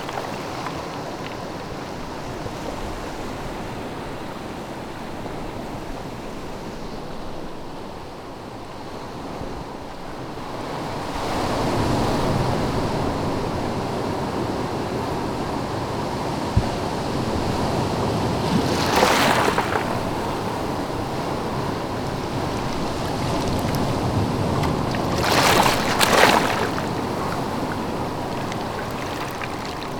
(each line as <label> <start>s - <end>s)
waves 0.0s - 29.9s